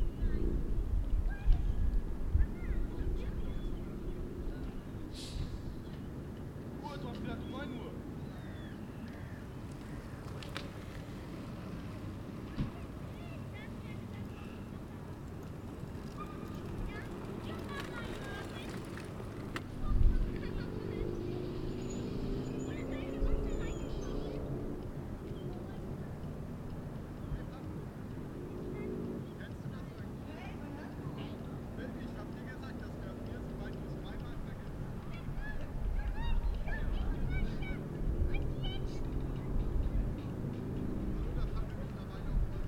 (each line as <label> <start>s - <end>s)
Bicycles 0.0s - 42.6s
voices 0.0s - 42.6s
Engine noise 9.5s - 29.2s